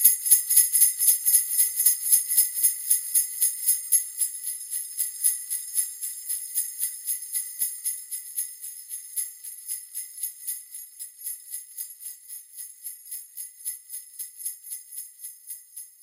Hand sleigh bells 0.0 - 16.0

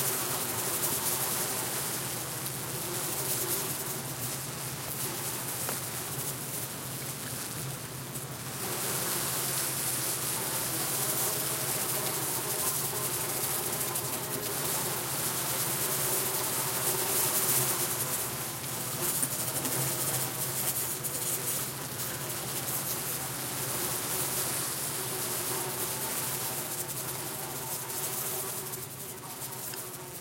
Large Swarm of Buzzing Flies 0.0 - 30.2

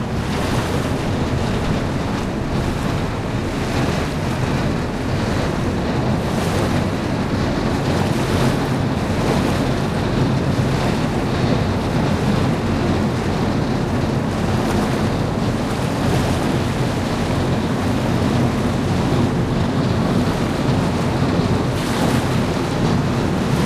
Ship 0.0 - 23.6
Wind 0.0 - 23.6
waves 0.0 - 23.6

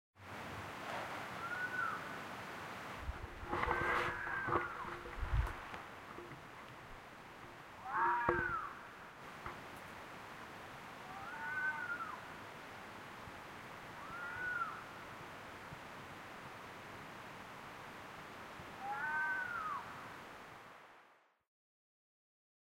handling and preamp noises 3.0 - 8.6
Fox noise 3.0 - 6.3
Fox noise 7.8 - 8.9
Fox noise 11.0 - 12.2
Fox noise 18.8 - 19.9

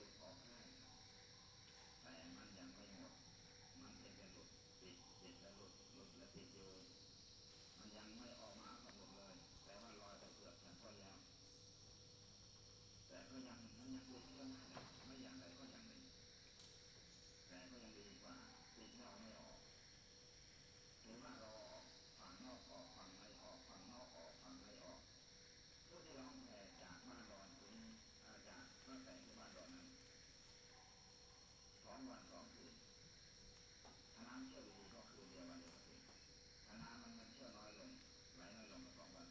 radio 0.0 - 0.9
radio 1.7 - 3.2
radio 3.8 - 7.0
radio 7.6 - 11.3
radio 13.1 - 16.1
radio 17.5 - 19.6
radio 21.0 - 25.0
radio 25.9 - 30.1
monk patrolling a temple 25.9 - 39.3
radio 31.8 - 32.9
radio 34.1 - 39.3

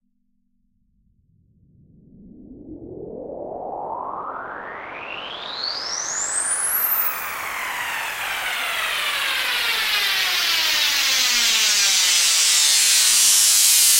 Riser Noise 4.0 - 13.9

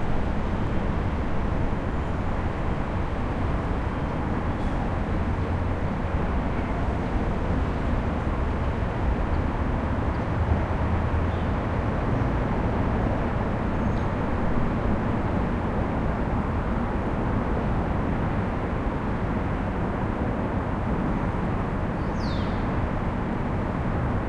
traffic overhead 0.0 - 24.2

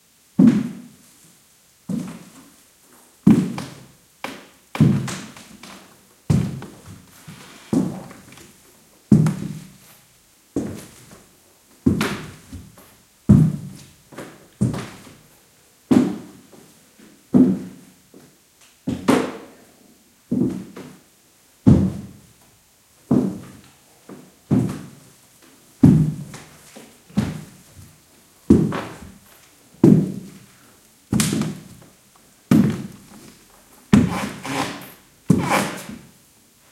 boot footsteps on wooden floor 32.5 - 33.3
boot footsteps on wooden floor 33.9 - 34.6

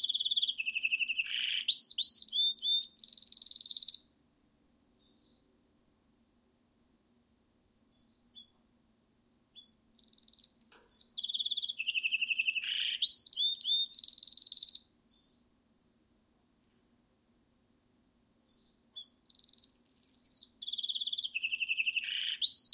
stinking birds to sing 0.0 - 4.1
stinking birds to sing 5.0 - 5.4
stinking birds to sing 8.0 - 8.6
stinking birds to sing 9.6 - 15.5
stinking birds to sing 18.5 - 22.7

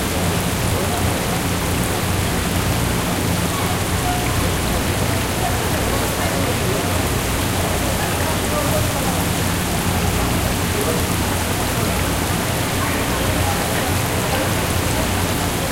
people talking in the background 0.0 - 15.7

